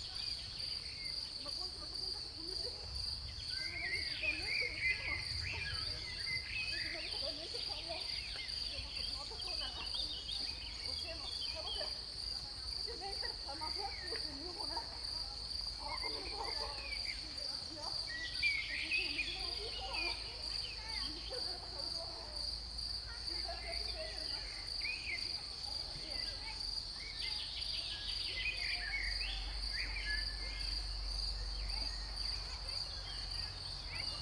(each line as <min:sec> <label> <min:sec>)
0:00.0 crickets 0:34.2
0:00.0 voices 0:34.2
0:03.2 birds 0:12.0
0:23.4 birds 0:34.2